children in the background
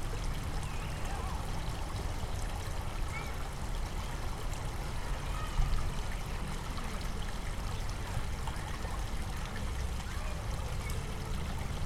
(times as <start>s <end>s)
4.7s 6.8s, 9.8s 11.6s